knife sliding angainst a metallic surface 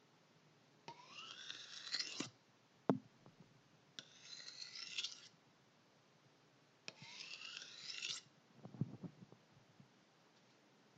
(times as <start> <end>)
0.9 2.3, 4.0 5.3, 6.9 8.3